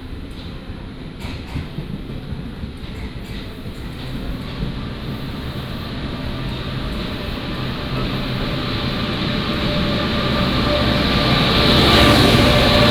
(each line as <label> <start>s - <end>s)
Walk at the station 0.0s - 12.9s